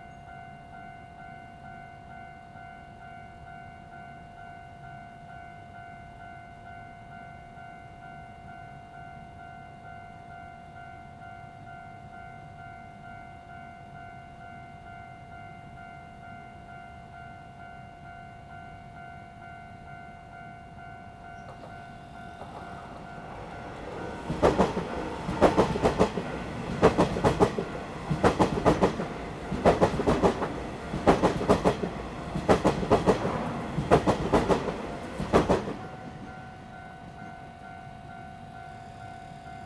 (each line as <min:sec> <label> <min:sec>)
0:00.0 The train runs through 0:39.6
0:21.5 Traffic sound 0:37.6